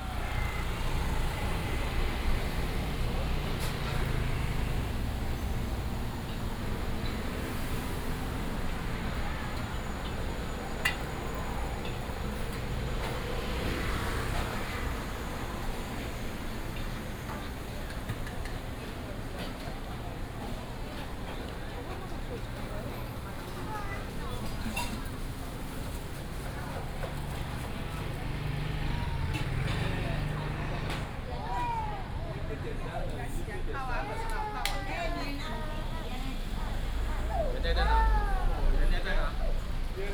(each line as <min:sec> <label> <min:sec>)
0:00.0 Traffic sound 0:40.1